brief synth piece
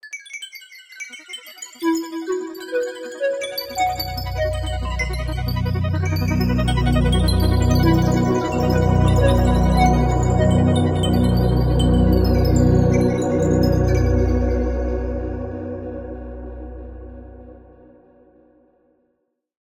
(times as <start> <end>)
3.7 17.6